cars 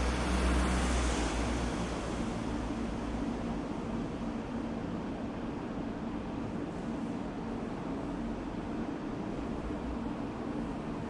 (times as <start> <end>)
0.0 3.6